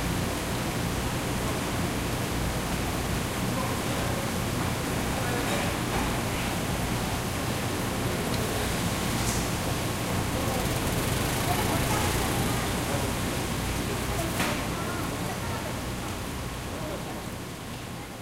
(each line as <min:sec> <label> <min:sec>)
0:09.4 motorbike 0:13.4